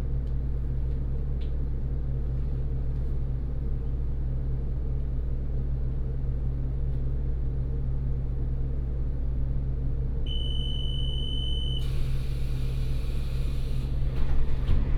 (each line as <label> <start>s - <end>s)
railway carriage 11.8s - 14.9s